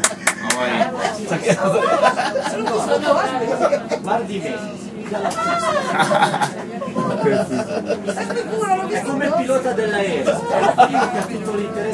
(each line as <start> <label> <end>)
0.0 laughter 4.3
0.0 shuttle bus 11.9
5.2 laughter 8.7
10.2 laughter 11.5